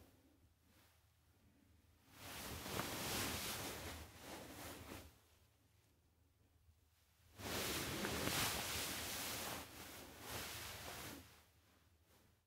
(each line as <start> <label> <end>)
2.1 turning & tossing in bed 5.1
7.4 turning & tossing in bed 11.4